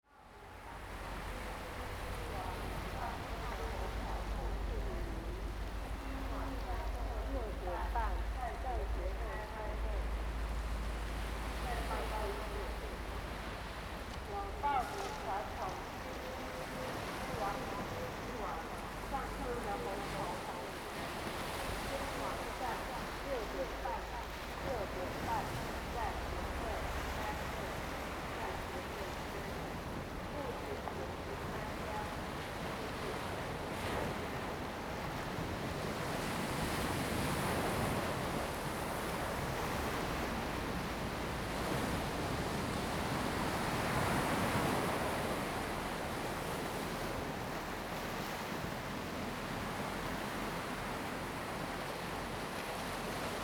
waves 0.0 - 53.4

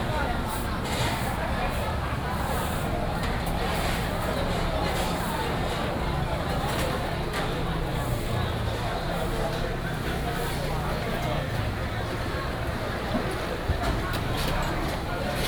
Many people are dining 0.0 - 15.4

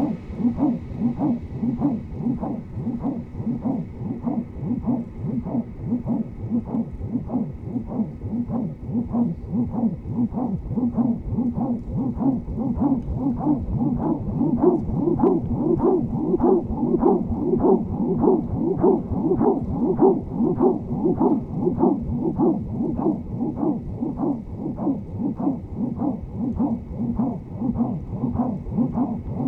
elastic wind wave 0.0 - 29.4

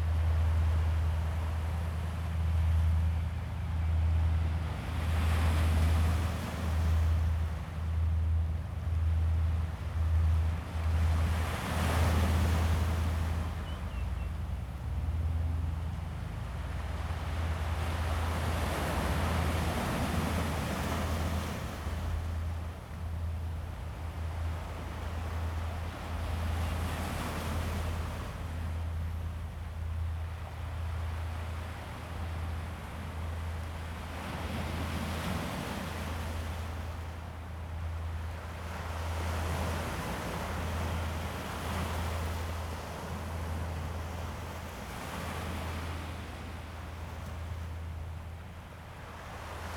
Yacht 0.0 - 49.7
waves 0.0 - 49.7

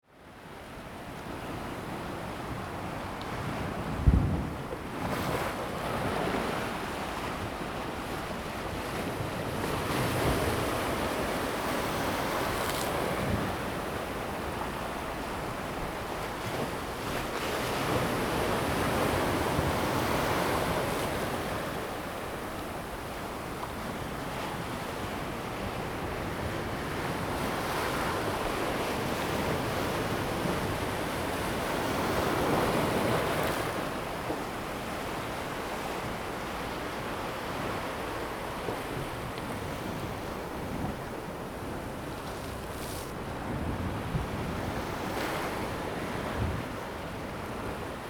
The sea is slowly rising tide 0.0 - 48.0

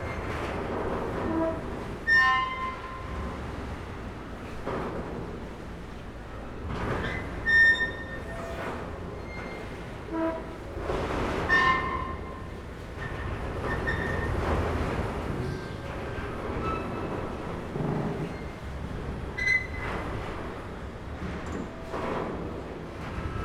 Ferry pontoon creaking with the waves 0.0 - 23.4

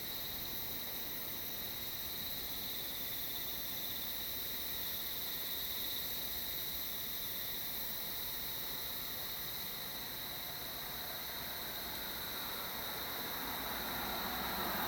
cicadas 0.0 - 14.8
wind 0.0 - 14.8
traffic sound 10.4 - 14.8

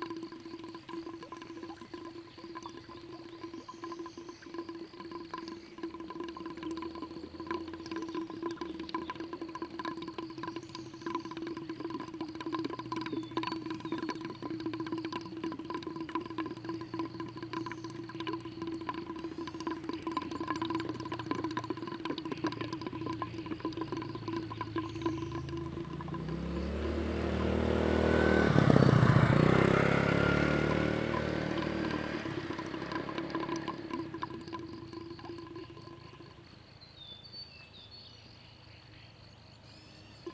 Water flow 0.0 - 36.8
Bird sounds 0.5 - 40.3
Traffic Sound 12.9 - 35.7

